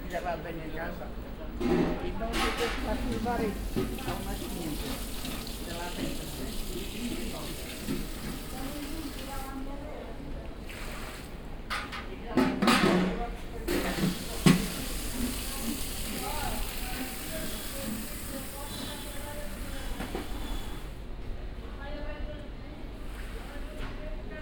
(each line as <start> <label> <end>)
13.7 cleanup 20.3